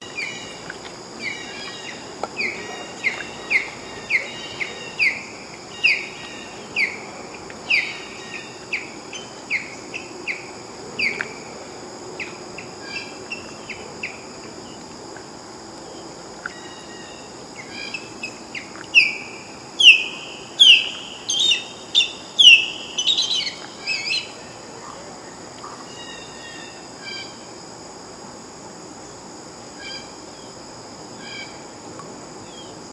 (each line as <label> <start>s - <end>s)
Crickets 0.0s - 32.9s
osprey chirps squawks cries 19.8s - 24.4s